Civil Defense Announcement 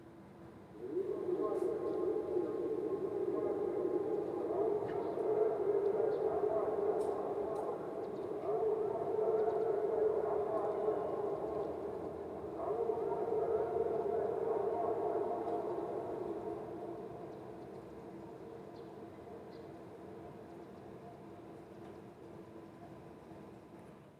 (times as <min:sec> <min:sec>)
0:00.8 0:19.6